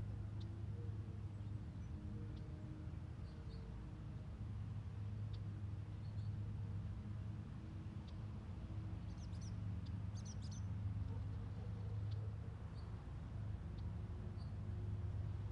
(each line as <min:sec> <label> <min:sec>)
0:00.0 light breeze 0:15.5
0:00.0 small airplane 0:15.5
0:00.0 birds 0:04.1
0:05.0 birds 0:06.8
0:07.8 birds 0:15.5